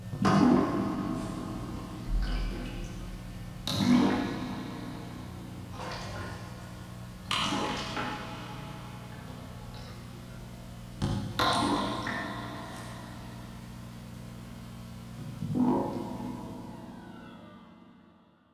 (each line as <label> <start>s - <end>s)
water dripping in a bucket 11.0s - 13.6s